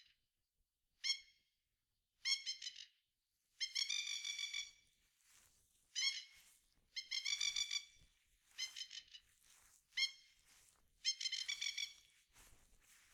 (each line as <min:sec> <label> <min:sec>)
0:07.0 Magpie calling 0:08.0
0:11.0 Magpie calling 0:12.0